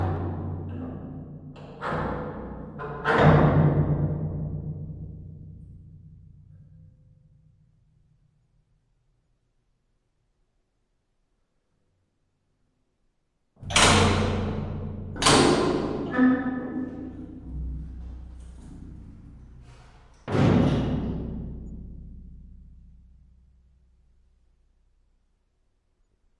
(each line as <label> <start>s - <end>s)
Heavy Gate Metal 13.6s - 22.4s